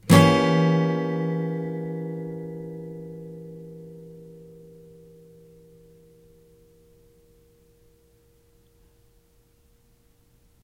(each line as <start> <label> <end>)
0.0 Chords strummed with a metal pick 8.7